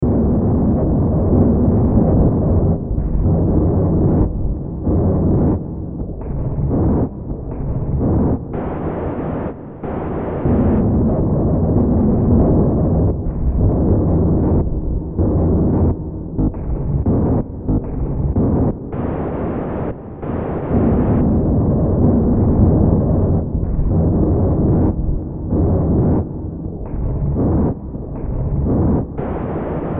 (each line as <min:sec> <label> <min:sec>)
0:00.0 Drone 0:29.9